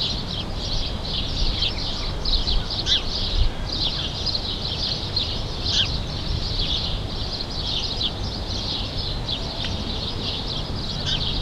0.0s sparrows 11.4s
2.5s Seagulls 3.1s
2.5s crows 4.1s

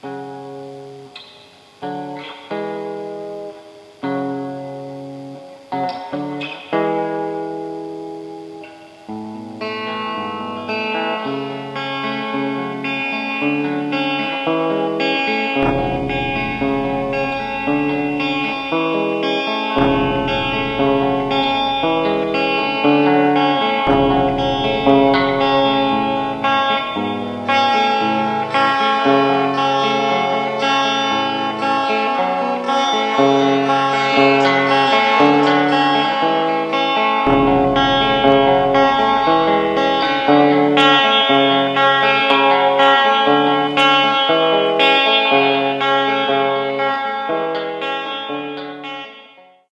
0.0s guitar piece 49.6s

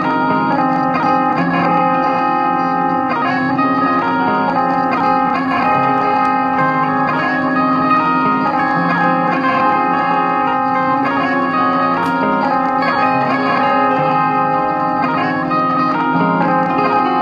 0.0s guitar 17.2s

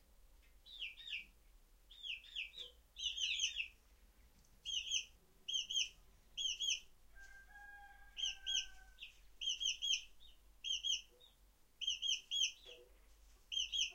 1.9s quails 13.9s

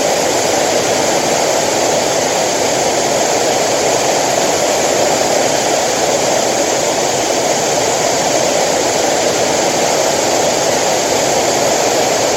0.0s white noise 12.3s

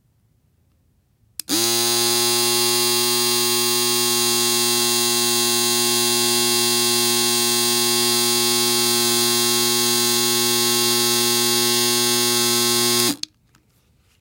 1.4s electric razor 13.2s

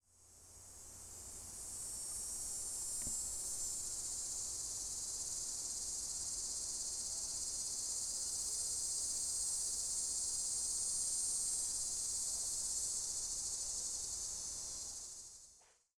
0.1s close cicadas 15.6s

